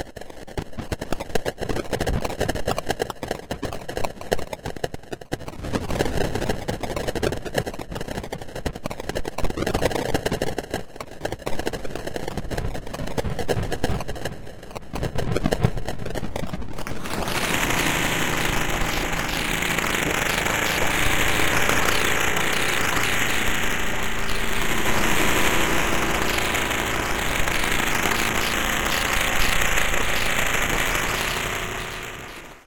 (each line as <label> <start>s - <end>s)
static 12.0s - 32.6s
bike tire spinning 16.9s - 32.6s